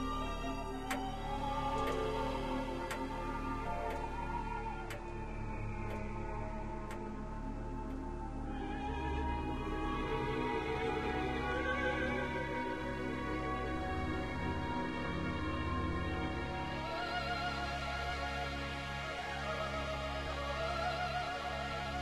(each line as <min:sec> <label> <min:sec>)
0:00.0 opera record 0:22.0